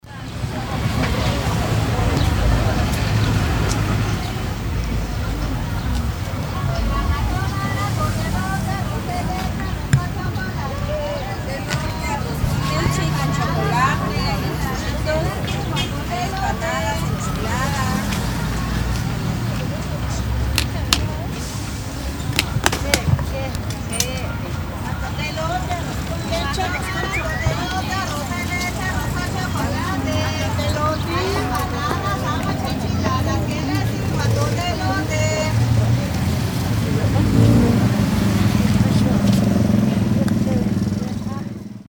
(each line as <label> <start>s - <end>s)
Street food vendors 0.0s - 41.8s